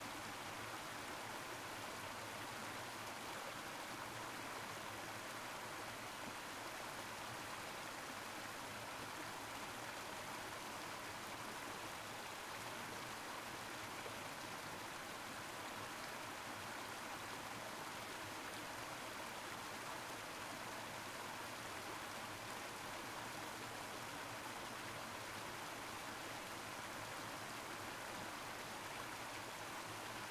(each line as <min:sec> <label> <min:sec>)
0:00.0 river passing over rocks 0:30.3